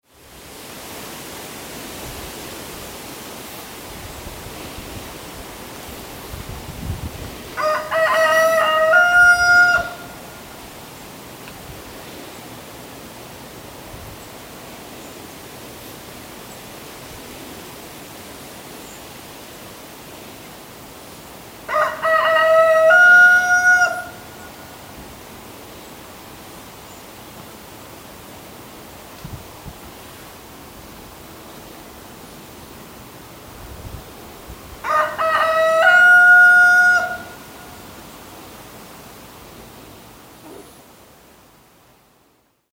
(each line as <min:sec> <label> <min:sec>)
0:07.6 rooster 0:10.4
0:21.7 rooster 0:24.8
0:34.8 rooster 0:37.8